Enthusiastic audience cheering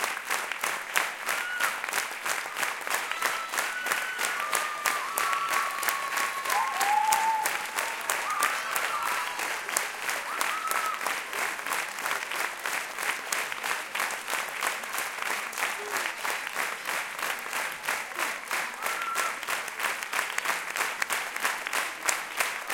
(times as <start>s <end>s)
1.0s 12.1s, 18.7s 19.5s